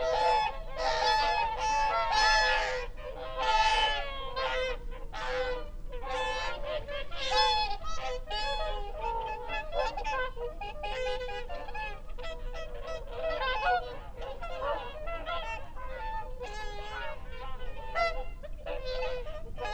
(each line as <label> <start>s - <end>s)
curlew 0.0s - 19.7s